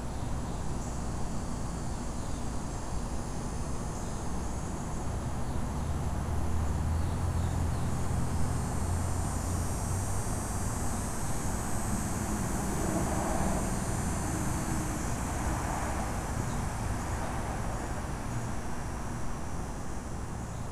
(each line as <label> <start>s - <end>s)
traffic 5.9s - 19.0s
Electric Cicadas 6.8s - 19.5s